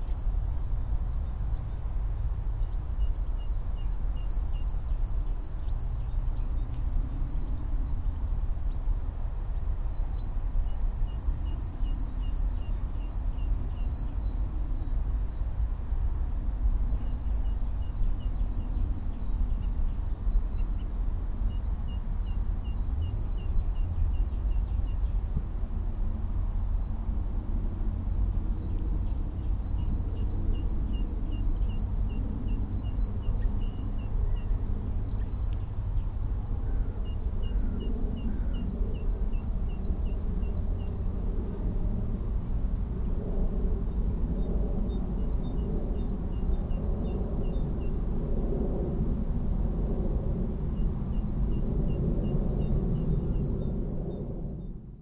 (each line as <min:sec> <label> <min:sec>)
0:00.0 song of a Robin 0:49.2
0:00.0 Songthrush singing in a tree 0:55.0
0:49.8 song of a Robin 0:55.0